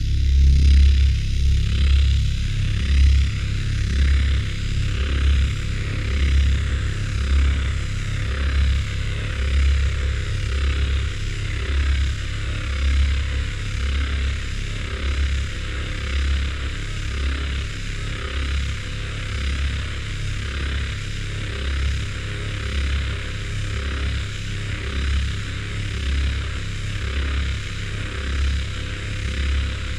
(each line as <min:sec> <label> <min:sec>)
0:00.0 pressuring bassy sound 0:14.0